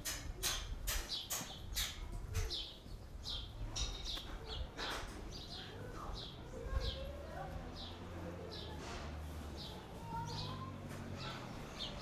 children playing at a pretend wedding 0:00.0 - 0:12.0
conversation in yiddish 0:05.3 - 0:08.8

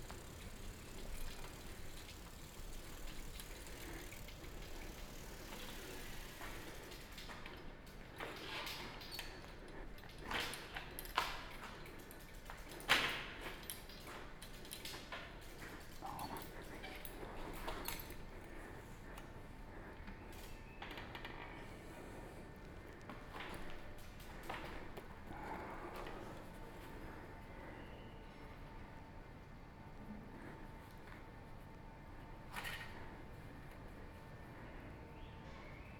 Biking on tha bank of Po Rivver 0:00.0 - 0:07.6

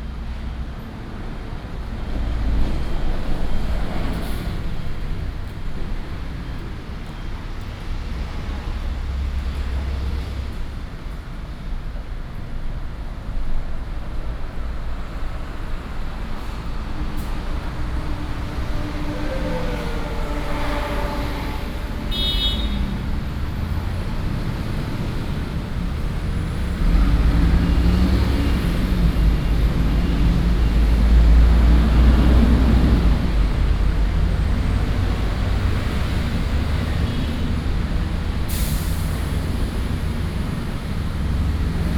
Traffic sound 0:00.0 - 0:41.9
pedestrian 0:00.0 - 0:41.9

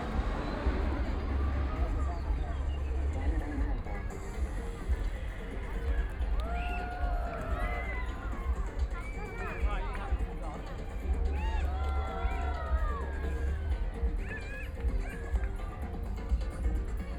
Traffic Sound 0:00.0 - 0:06.5
A lot of tourists 0:00.0 - 0:17.1
Walking through the park 0:00.0 - 0:17.1

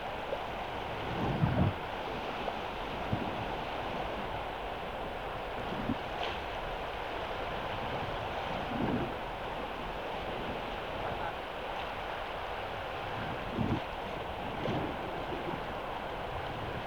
water 0:00.0 - 0:16.8

